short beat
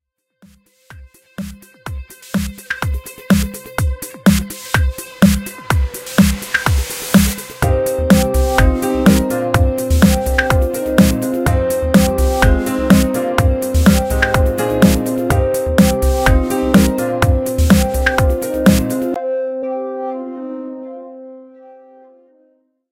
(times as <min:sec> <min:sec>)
0:00.9 0:19.2